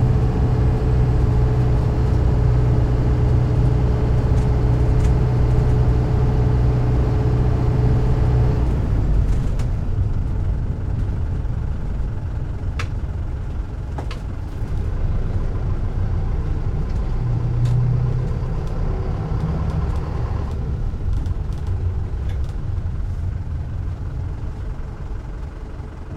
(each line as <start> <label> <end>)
0.0 Interior start, driving, stop and engine shut off of a toyota minibus 26.1